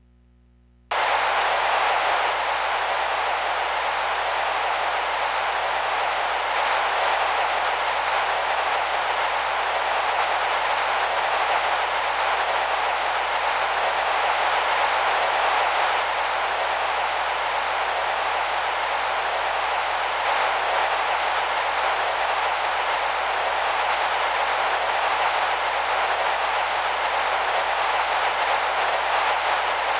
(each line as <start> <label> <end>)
0.9 Processed white noise 29.9